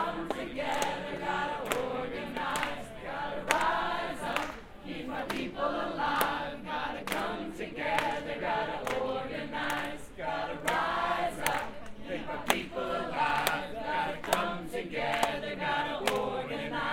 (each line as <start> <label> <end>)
0.0 chant 16.9